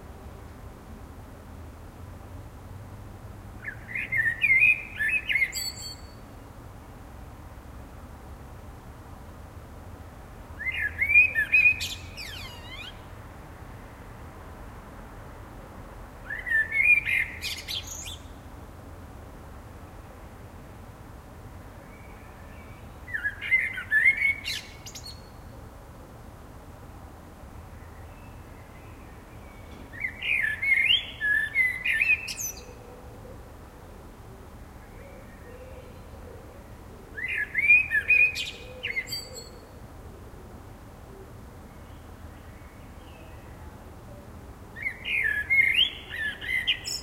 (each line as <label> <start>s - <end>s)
blackbird singing 3.6s - 6.2s
blackbird singing 10.6s - 13.1s
blackbird singing 16.3s - 18.3s
blackbird singing 21.8s - 25.4s
blackbird singing 28.0s - 32.9s
blackbird singing 37.2s - 39.6s
blackbird singing 44.8s - 47.0s